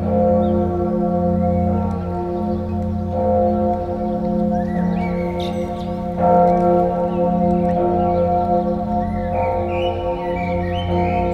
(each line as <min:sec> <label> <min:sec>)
0:00.0 bell of this Lutheran church, ringing 0:11.3
0:01.4 pedestrians walking onto the gravels 0:11.3
0:01.5 song of a blackbird 0:11.3